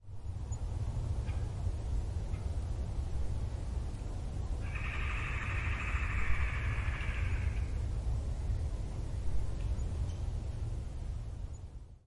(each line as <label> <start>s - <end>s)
call of the Pileated Woodpecker 4.6s - 7.8s